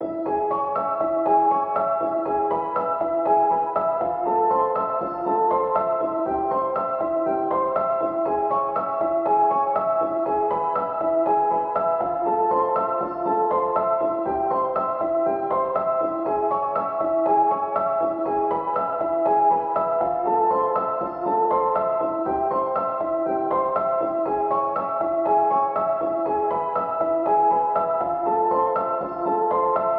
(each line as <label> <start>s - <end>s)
piano 0.0s - 29.9s